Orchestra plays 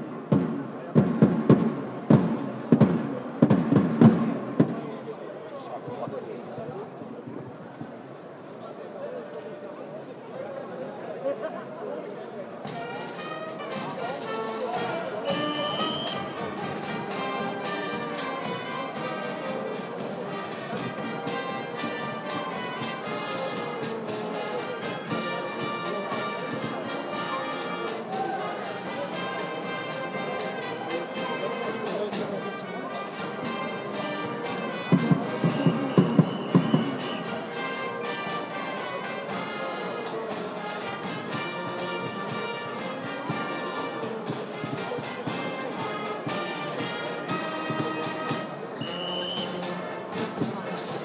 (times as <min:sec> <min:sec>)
0:12.6 0:51.0